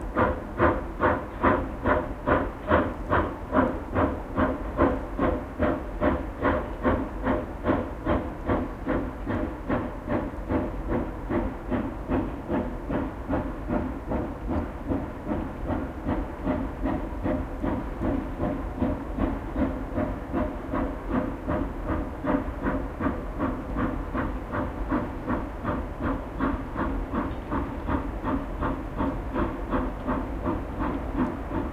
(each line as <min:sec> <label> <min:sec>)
0:00.0 Steam locomotive running at a distance, puffing 0:31.7